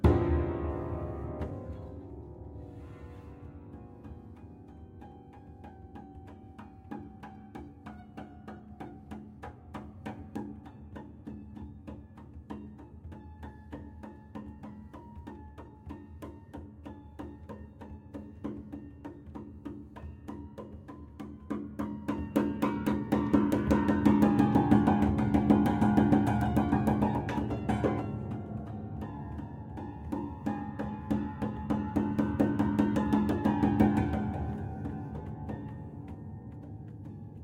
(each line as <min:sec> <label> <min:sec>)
0:00.0 old bare piano soundboard manipulated in various ways 0:09.2